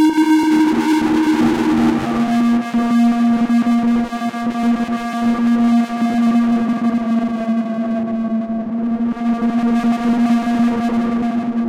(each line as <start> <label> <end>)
0.0 technological drone sound 2.9